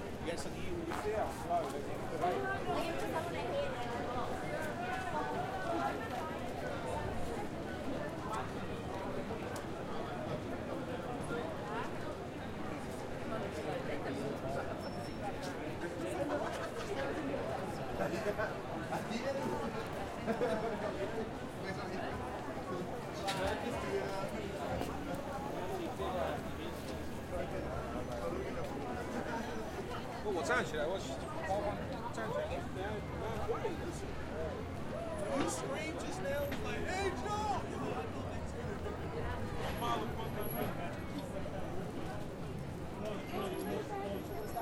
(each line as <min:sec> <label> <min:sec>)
0:00.0 crowd 0:44.6
0:00.0 traffic 0:44.6
0:00.4 walk 0:06.6
0:23.2 walk 0:29.9